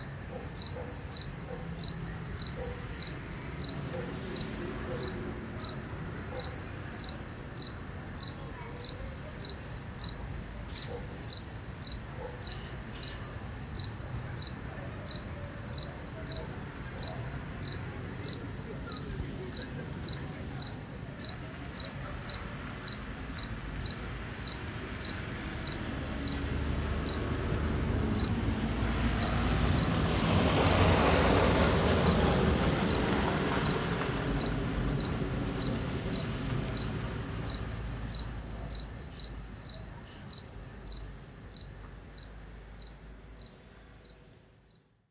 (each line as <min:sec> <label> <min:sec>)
0:00.0 voices 0:43.1
0:00.0 cars 0:44.6
0:00.0 Crickets 0:45.0